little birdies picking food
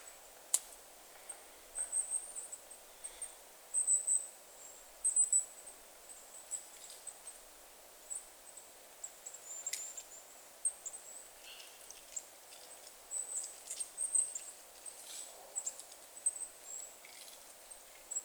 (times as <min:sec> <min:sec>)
0:11.4 0:18.2